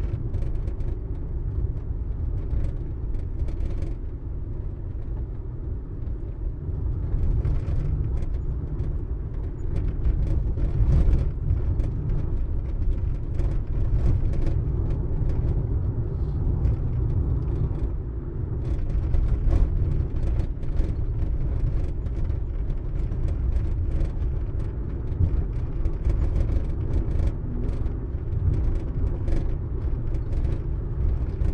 rattly driving bumpy road 0.0 - 31.5

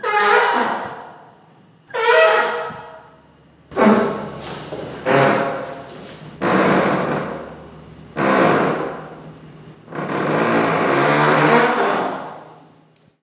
Squeeky Door 0.0 - 1.2
Squeeky Door 1.9 - 3.1
Squeeky Door 3.7 - 5.8
Squeeky Door 10.0 - 12.5

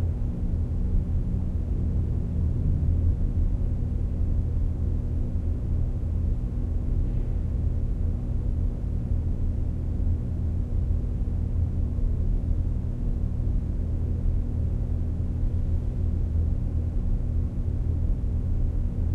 tunnel moody hum drone 0.0 - 8.6

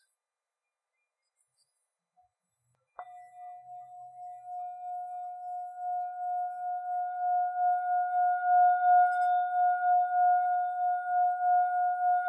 singing bowl 3.0 - 12.2

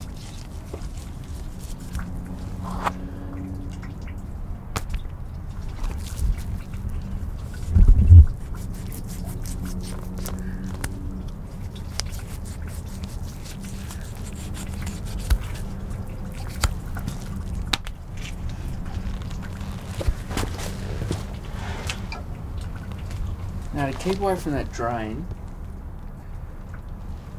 cut pig ear 8.4 - 11.0
cut pig ear 11.8 - 18.0

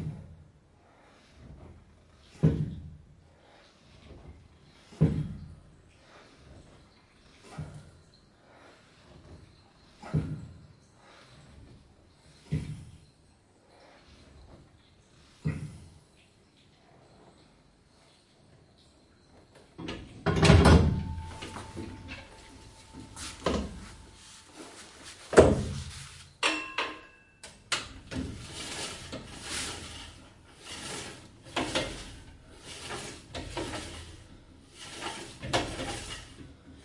Sets of bench 18.8 - 36.8
lat pulldown 19.9 - 36.8

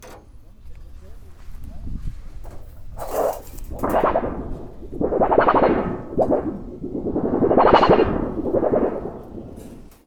Clanks 0.0 - 10.0
Machines 0.0 - 10.0
Scrapes 0.0 - 10.0
rattle 2.3 - 10.0
Bangs 2.4 - 10.0

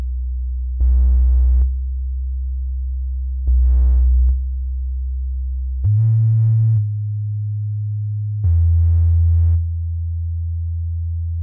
sub-oscillator 0.8 - 1.8
sub-oscillator 3.4 - 4.4
sub-oscillator 5.8 - 11.4

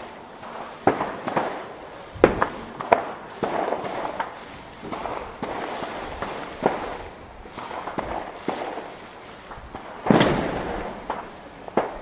fireworks display 0.0 - 12.0

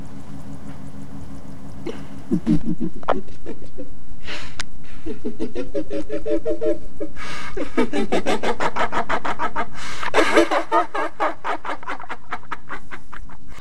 female demon laugh 1.9 - 3.9
female demon laugh 4.9 - 13.6

